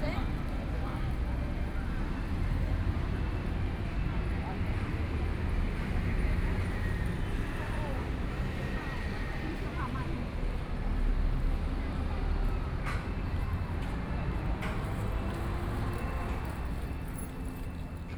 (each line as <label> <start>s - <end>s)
MRT train sounds 0.0s - 18.1s
Traffic Sound 5.2s - 18.1s